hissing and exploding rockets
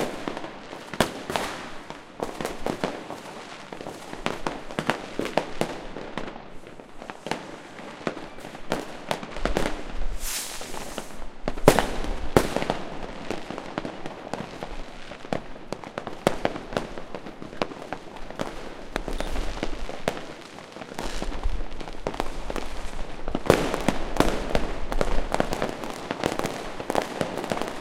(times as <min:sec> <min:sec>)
0:06.5 0:13.7